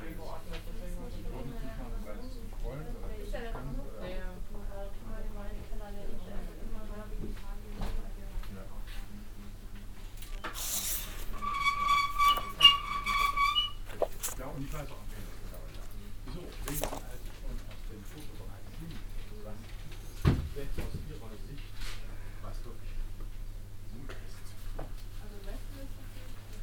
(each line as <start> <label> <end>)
13.7 verschieben einer bibliotheksleiter 19.8